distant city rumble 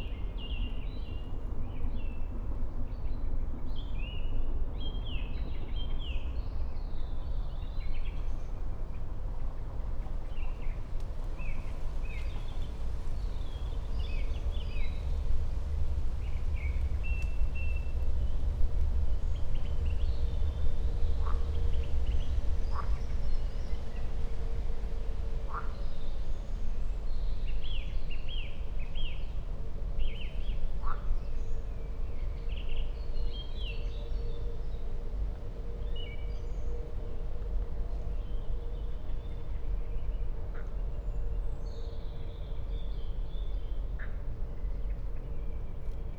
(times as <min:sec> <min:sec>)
0:10.8 0:27.9